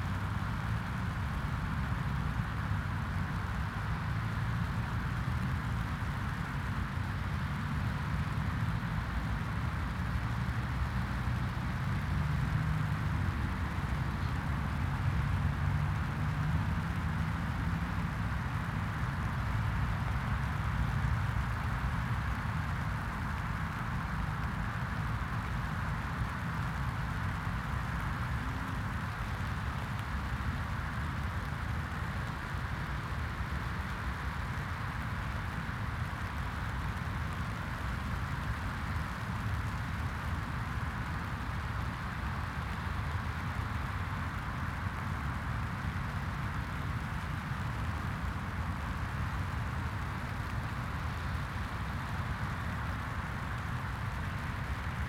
stream is full 0.0 - 55.0

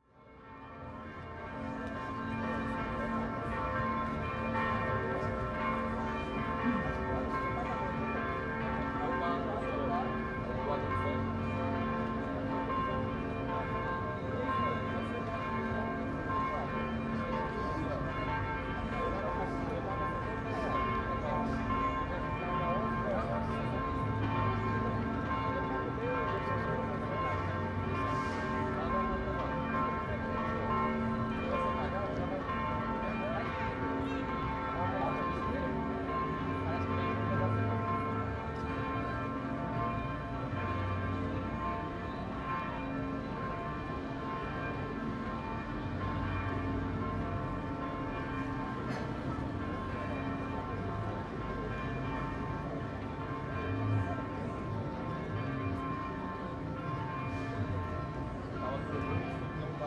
Bells of the Cathedral 0.0 - 59.8

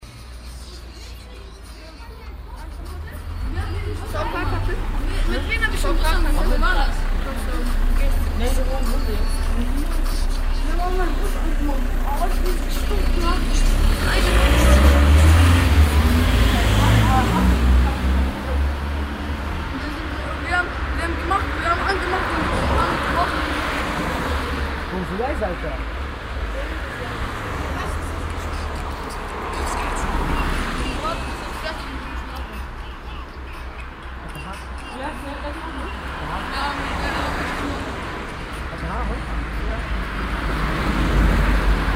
konversation und handygeräusche jugendlicher 0.6 - 41.9

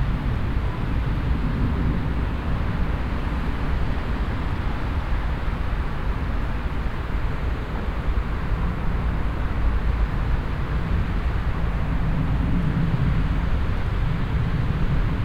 mellow wind 0.0 - 15.2

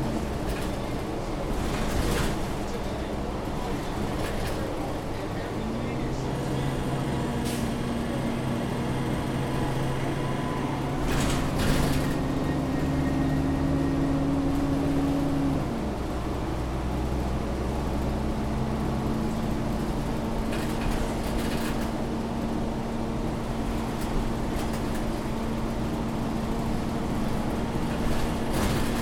a/c in bus 0.0 - 29.0
bus trip 0.0 - 29.0

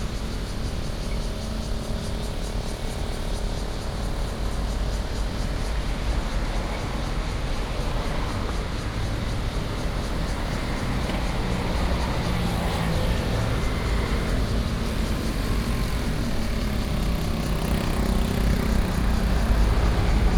Cicadas cry 0.0 - 20.3
Traffic Sound 5.6 - 20.3

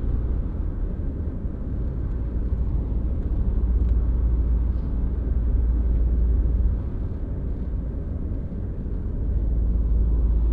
Inside of a car on a highway 0.0 - 10.5

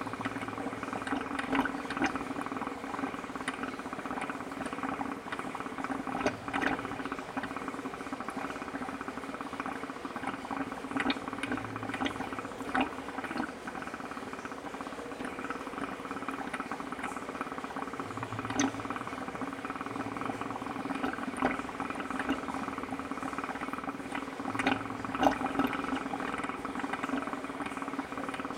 Bubbles into a pipe 0.0 - 28.5

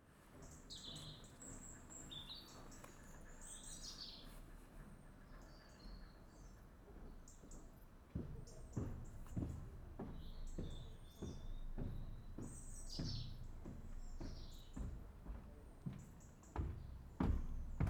birds chirp 0.2 - 4.6
birds chirp 5.2 - 17.8
people walking over the metal bridge 6.6 - 17.8

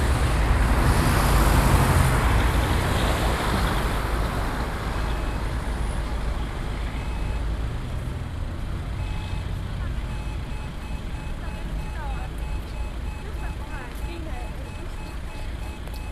pedestrian crossing 0.0 - 16.1

